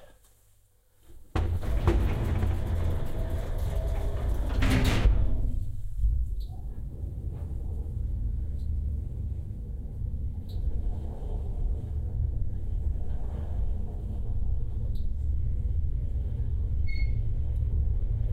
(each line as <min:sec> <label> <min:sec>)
0:01.2 heavy metal elevator doors open, then close 0:18.3
0:01.3 the elevator goes up 0:18.3
0:01.4 the door opens 0:05.7